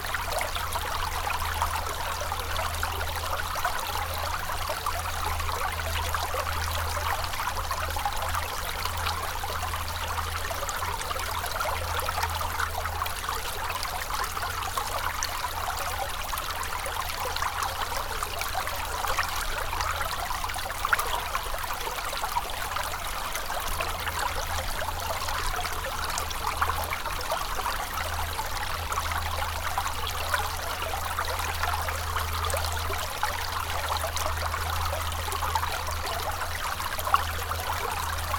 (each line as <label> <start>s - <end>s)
small river into the woods 0.0s - 38.3s